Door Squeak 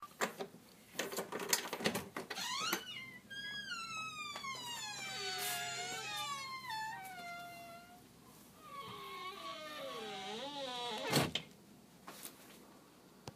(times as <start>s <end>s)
2.3s 8.0s, 8.6s 11.4s